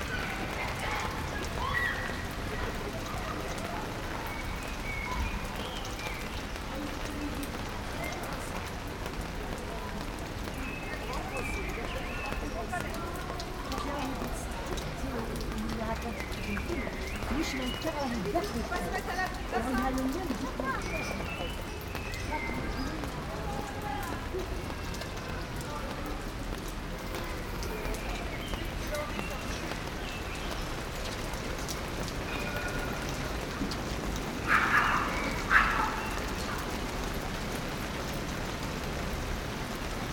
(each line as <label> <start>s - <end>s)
people walk by 0.0s - 40.1s
rain 0.0s - 40.1s
dogs bark 34.4s - 36.7s